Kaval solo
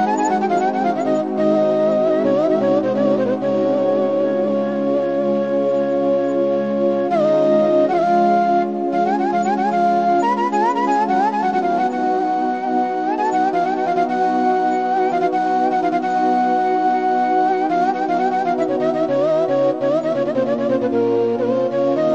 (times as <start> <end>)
0.0 6.2